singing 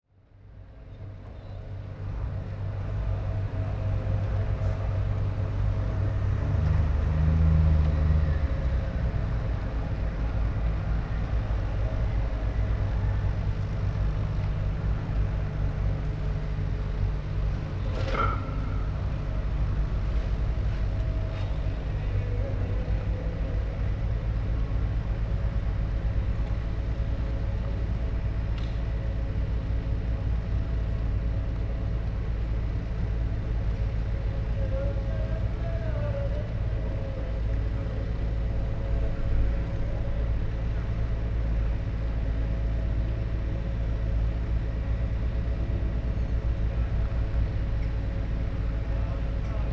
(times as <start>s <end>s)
34.2s 40.7s